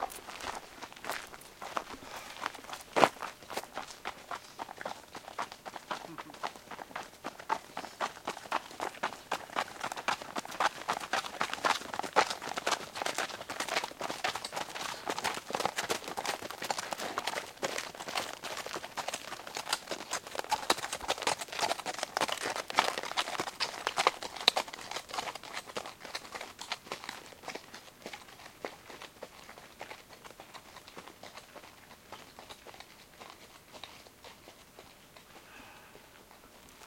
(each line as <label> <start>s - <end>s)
Horses walking on a gravel road 0.0s - 36.8s